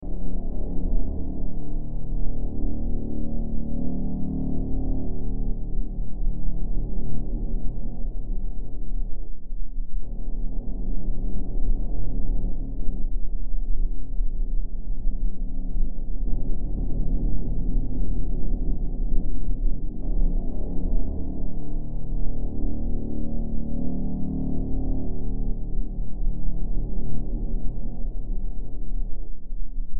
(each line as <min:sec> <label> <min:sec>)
0:00.0 Drone 0:29.9